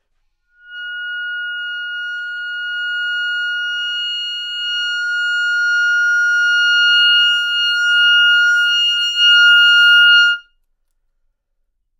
Clarinet 0:00.5 - 0:10.5

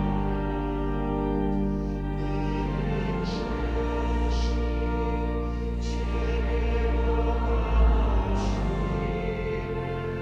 pipe organ 0:00.0 - 0:10.2
singing prayer 0:02.2 - 0:10.2

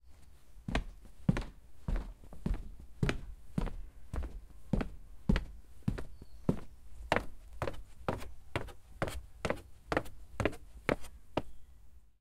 footsteps - wood & stairs 0:00.2 - 0:11.6

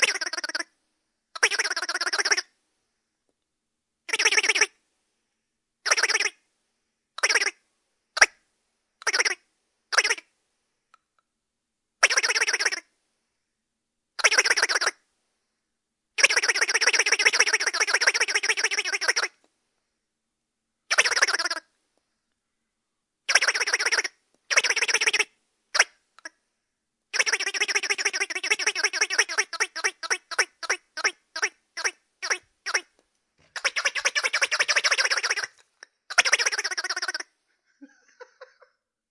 Ducktoy Quackers 0:00.0 - 0:00.7
Ducktoy Quackers 0:01.4 - 0:02.5
Ducktoy Quackers 0:04.1 - 0:04.8
Ducktoy Quackers 0:05.9 - 0:06.4
Ducktoy Quackers 0:07.2 - 0:07.6
Ducktoy Quackers 0:08.2 - 0:08.4
Ducktoy Quackers 0:09.0 - 0:10.3
Ducktoy Quackers 0:12.0 - 0:12.9
Ducktoy Quackers 0:14.2 - 0:15.0
Ducktoy Quackers 0:16.2 - 0:19.4
Ducktoy Quackers 0:20.9 - 0:21.7
Ducktoy Quackers 0:23.3 - 0:26.4
Ducktoy Quackers 0:27.2 - 0:32.9
Ducktoy Quackers 0:33.6 - 0:37.3

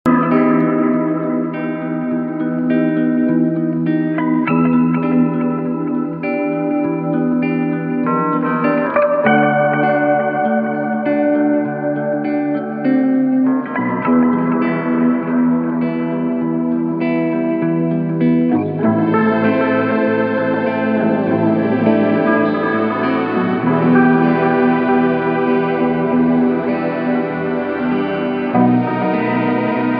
Electric guitar 0:00.0 - 0:29.9
synth 0:00.1 - 0:29.9
Bass guitar 0:07.6 - 0:29.9

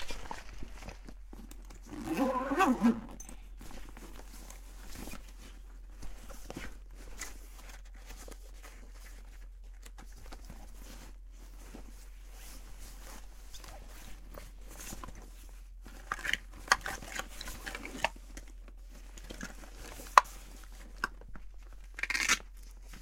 opening the zip of a bag 0:00.0 - 0:04.4
bag noise 0:00.0 - 0:05.3
opening the zip of a bag 0:21.9 - 0:23.0

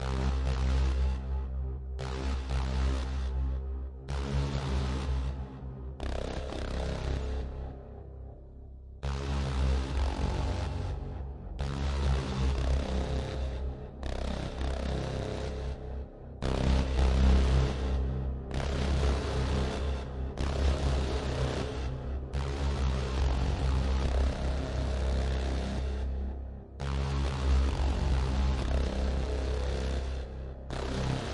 Synthesizer 0:00.0 - 0:31.3

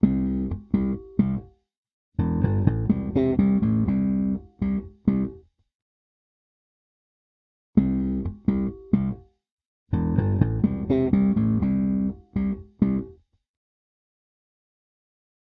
bass groove 0:00.0 - 0:01.5
bass groove 0:02.2 - 0:05.4
bass groove 0:07.8 - 0:09.2
bass groove 0:09.9 - 0:13.1

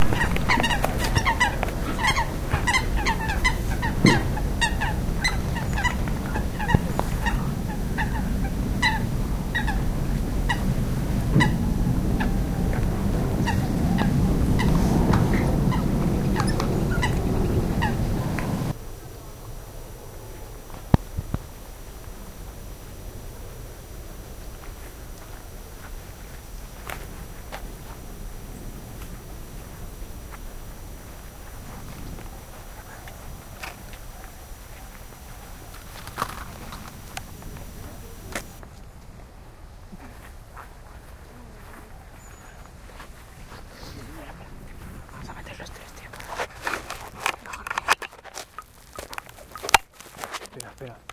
Coots 0:00.0 - 0:18.8

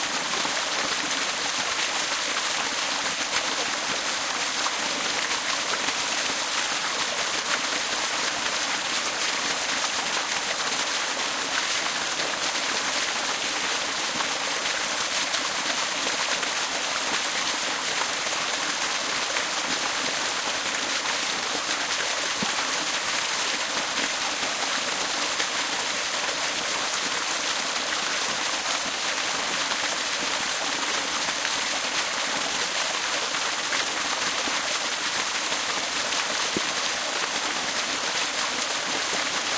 waterfall 0:00.0 - 0:39.5

